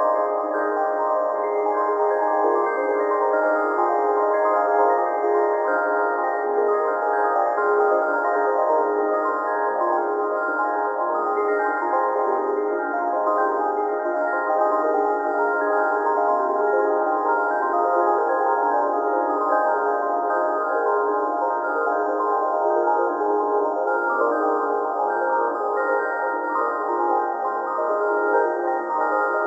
0.0s Sine Bells 29.4s

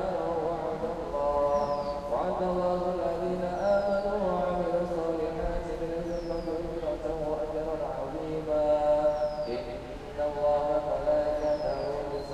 0.0s Indonesian domestic helpers chanting and praying 12.3s
0.0s praying with an Imam 12.3s
0.0s singing 12.3s

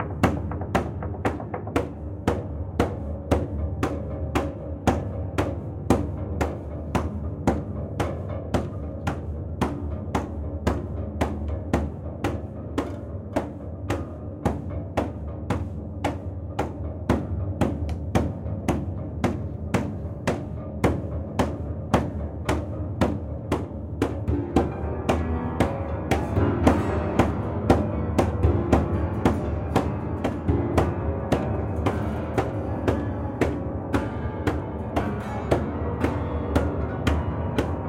0.0s old bare piano soundboard manipulated in various ways 37.8s

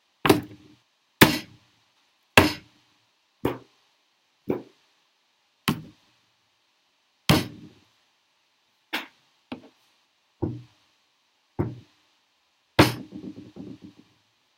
7.3s hand kicking a desk and floor 7.8s
10.4s hand kicking a desk and floor 10.7s
11.6s hand kicking a desk and floor 11.9s
12.8s hand kicking a desk and floor 14.1s

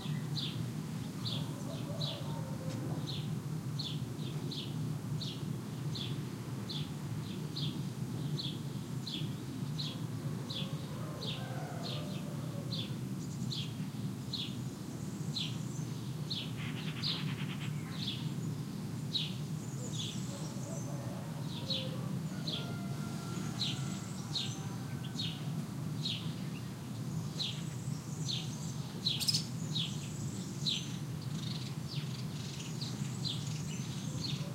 1.4s Rooster 3.0s
10.3s Rooster 12.9s
14.4s Golden Oriole 34.5s
20.3s Rooster 25.6s

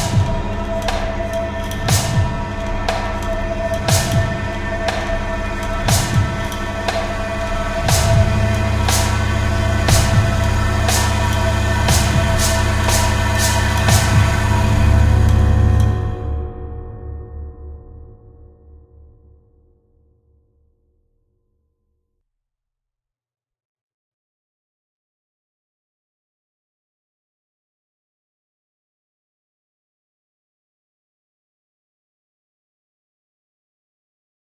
0.0s Cymbals 16.0s
0.0s bass drums 16.2s
0.0s Double Bass creates rising tension 16.4s

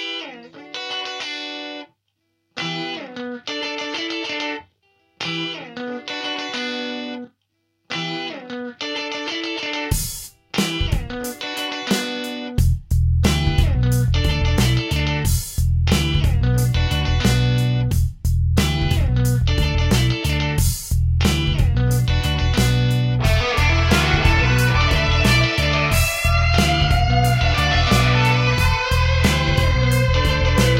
9.2s funk rhythm-chords 30.7s
9.9s drum samples 30.7s
12.6s bass party on my keyboard 30.7s
23.2s power distortion solo 30.7s

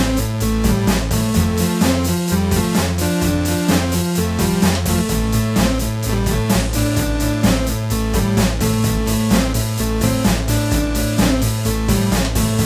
0.0s Synthesizer 12.6s
0.0s drum machine 12.6s
0.0s piano 12.6s

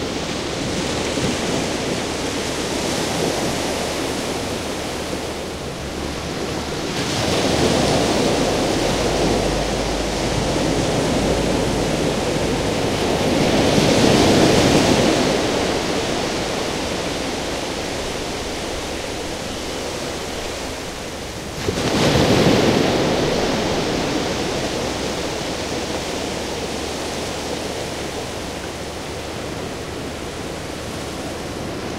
0.0s big waves 31.9s

